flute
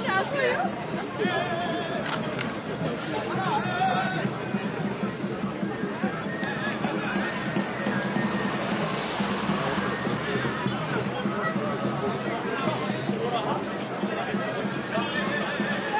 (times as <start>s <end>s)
3.4s 13.3s, 14.4s 15.9s